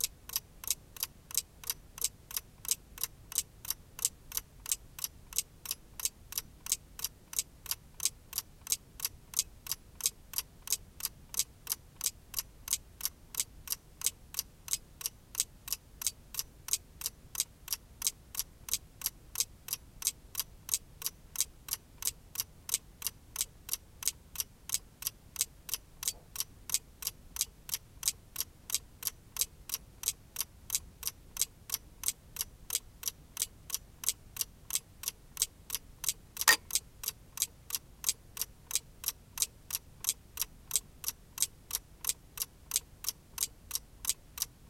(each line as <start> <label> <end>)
0.0 ticking mechanism of wind-up clock 44.6